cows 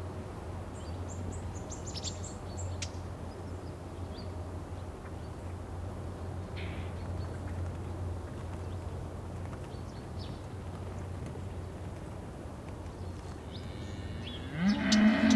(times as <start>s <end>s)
13.4s 15.3s